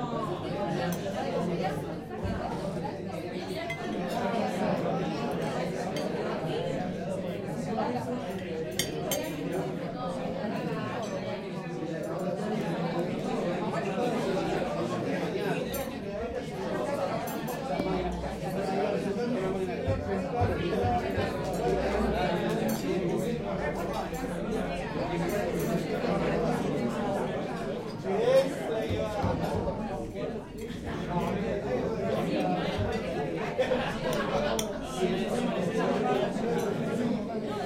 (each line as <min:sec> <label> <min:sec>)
0:00.0 murmur 0:37.6